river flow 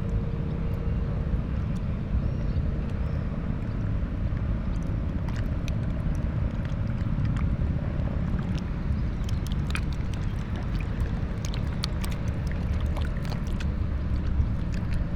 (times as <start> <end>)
3.4 15.1